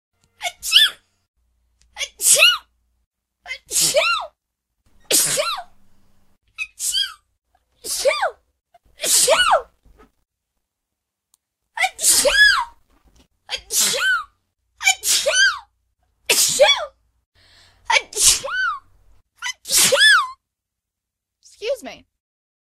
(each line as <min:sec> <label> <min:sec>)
0:00.4 sneeze 0:01.0
0:02.0 sneeze 0:02.6
0:03.5 sneeze 0:04.4
0:05.0 sneeze 0:05.7
0:06.6 sneeze 0:07.2
0:07.8 sneeze 0:08.4
0:09.0 sneeze 0:09.7
0:11.8 sneeze 0:12.7
0:13.5 sneeze 0:15.7
0:16.3 sneeze 0:17.0
0:17.9 sneeze 0:18.8
0:19.4 sneeze 0:20.4